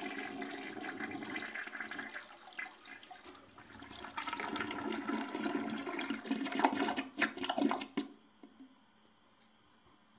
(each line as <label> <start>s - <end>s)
toilet flush 0.0s - 8.1s